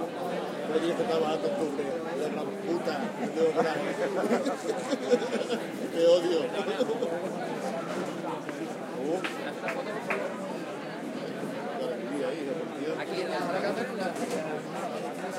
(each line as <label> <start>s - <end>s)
People drink outdoor and talk 0.0s - 15.3s